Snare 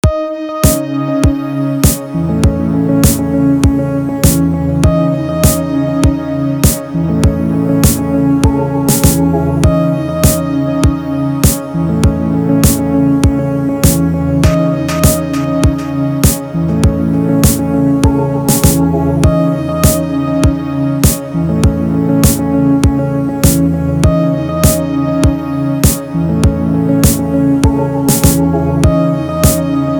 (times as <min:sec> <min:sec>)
0:01.8 0:02.1, 0:03.0 0:03.2, 0:04.2 0:04.5, 0:06.6 0:06.9, 0:07.8 0:08.1, 0:08.9 0:09.2, 0:11.4 0:11.7, 0:13.8 0:16.5, 0:17.4 0:17.6, 0:18.5 0:18.8, 0:19.8 0:20.0, 0:21.0 0:21.3, 0:23.4 0:23.6, 0:25.8 0:26.1, 0:27.0 0:27.2, 0:28.1 0:28.4, 0:29.4 0:29.7